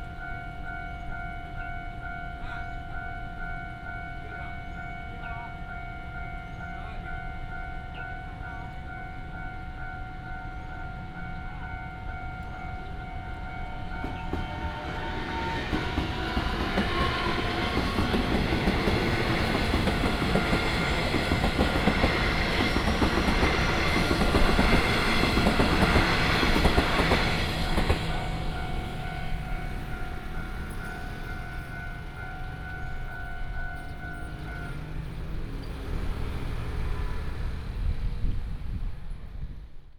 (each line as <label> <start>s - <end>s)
Traffic sound 10.8s - 39.9s